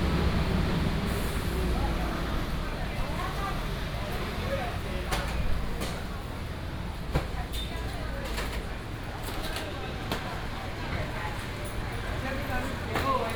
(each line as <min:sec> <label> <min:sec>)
0:00.0 traffic sound 0:07.0